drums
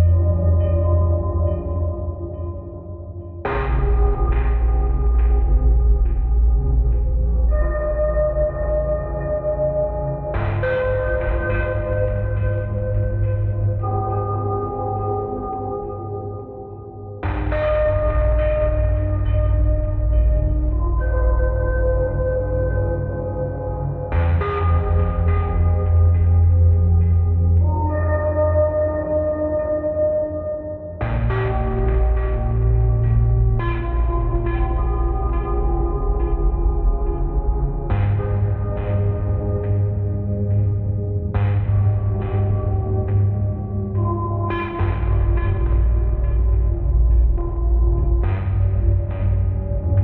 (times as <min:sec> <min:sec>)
0:03.5 0:09.2, 0:10.2 0:14.3, 0:17.2 0:22.5, 0:24.1 0:27.6, 0:31.0 0:50.0